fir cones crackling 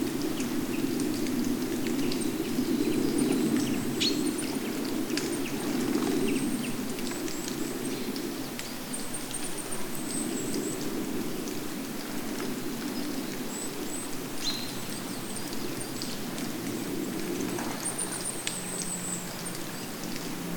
0:15.0 0:20.5

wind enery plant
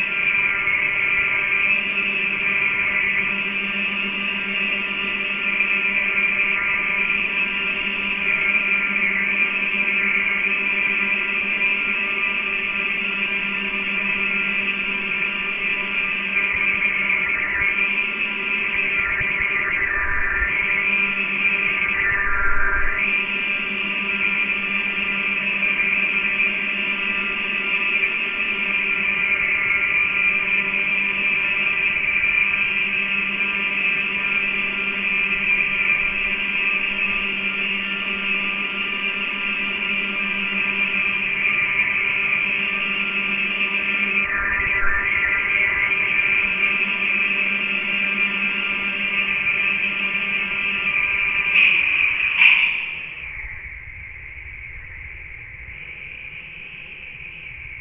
0:43.8 0:47.7, 0:50.6 0:57.8

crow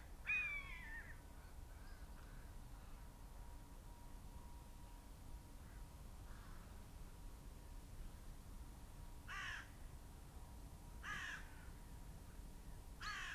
0:11.0 0:11.5, 0:13.0 0:13.3

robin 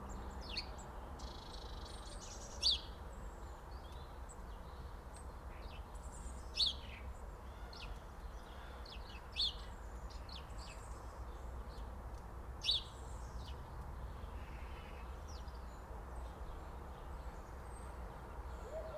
0:18.6 0:18.9

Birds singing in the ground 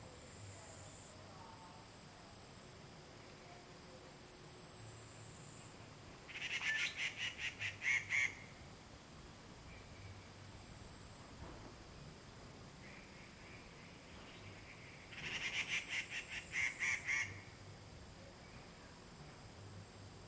0:05.1 0:08.6, 0:09.7 0:10.5, 0:12.8 0:17.6

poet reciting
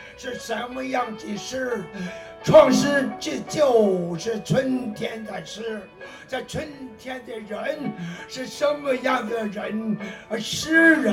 0:02.5 0:03.6

